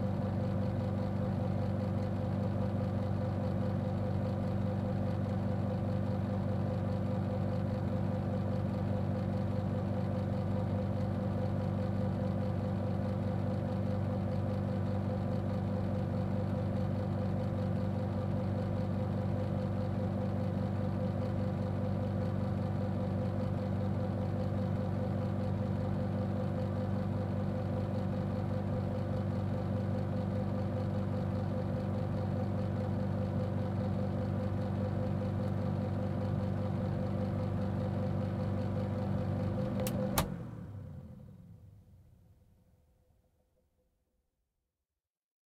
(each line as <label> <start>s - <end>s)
Overhead Projector On Run Off Close 39.7s - 40.9s